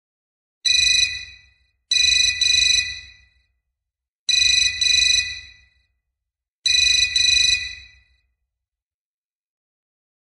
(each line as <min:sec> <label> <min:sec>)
0:06.7 digital telephone ringing 0:08.1